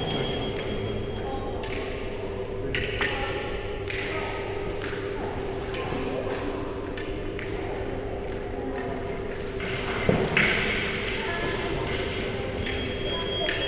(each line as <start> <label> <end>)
0.0 contact alarms 1.2